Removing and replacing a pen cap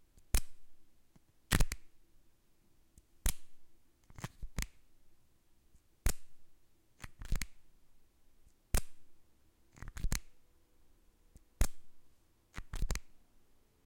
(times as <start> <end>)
1.2 2.0, 3.2 4.8, 6.0 6.4, 7.0 7.6, 8.7 9.1, 9.7 10.4, 11.4 11.9, 12.5 13.2